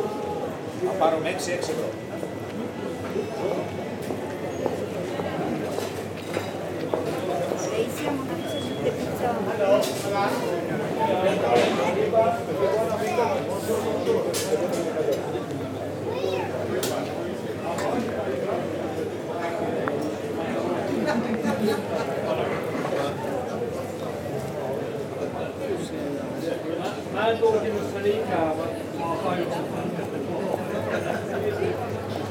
0.0s wind 32.3s
0.7s discussions 32.1s

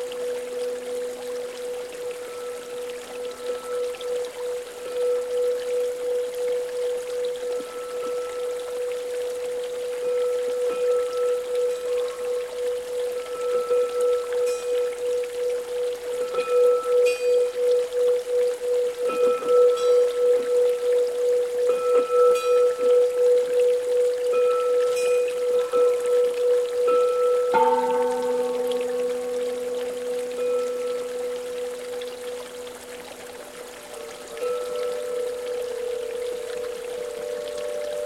0.0s zen meditation bell 38.0s

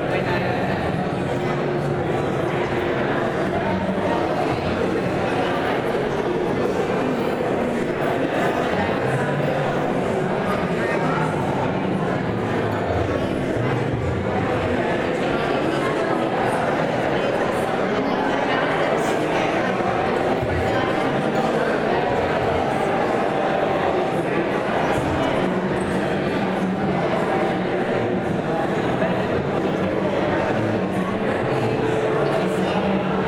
0.0s Crowds 33.2s

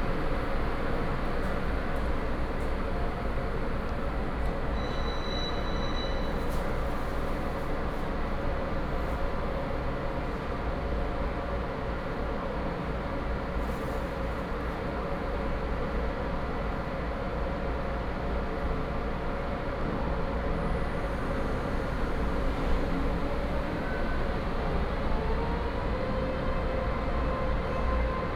0.0s Train arrives and leaves 28.3s

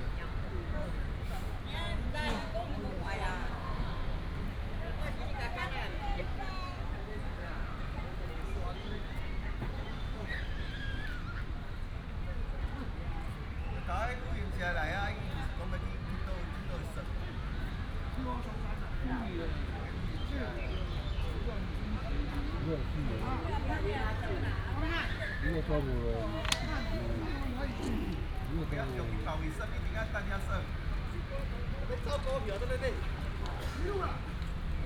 14.8s Traffic sound 34.8s
21.8s old people are playing chess 31.3s

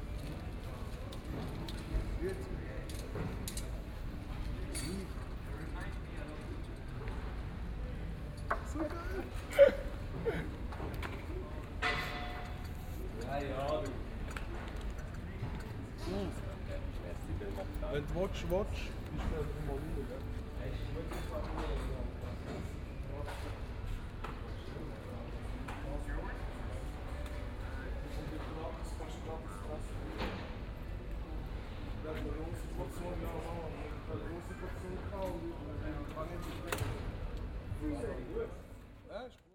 0.0s people, already preparing for the party 39.5s

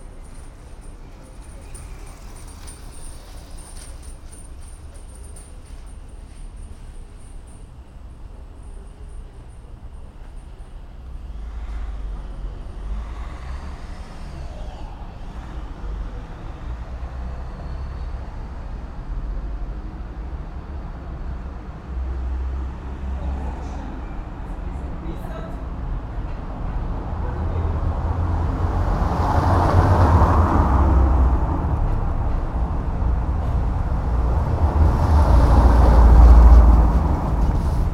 0.0s bikes 24.9s
0.0s car traffic 37.9s
0.0s people passing by 37.9s
24.6s people talking 25.7s
25.5s bikes 37.9s

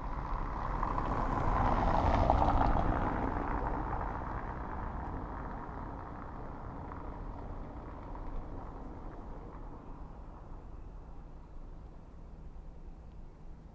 0.0s vehicles driving over the cobblestones 13.7s

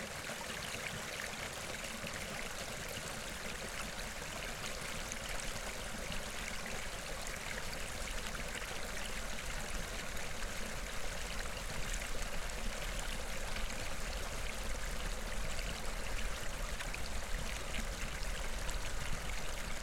0.0s little waterfall at the river 19.8s

